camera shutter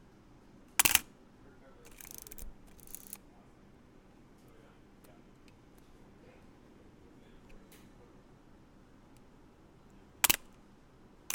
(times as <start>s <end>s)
0.8s 1.1s, 10.2s 10.5s